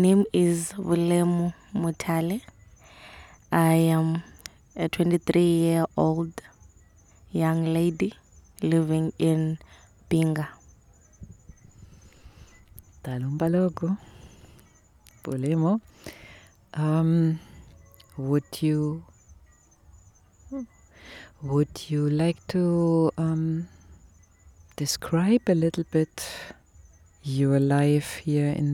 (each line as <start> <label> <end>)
0.0 she describes for us 6.6
7.3 she describes for us 10.6
13.0 she describes for us 14.3
15.1 she describes for us 19.1
27.2 she describes for us 28.7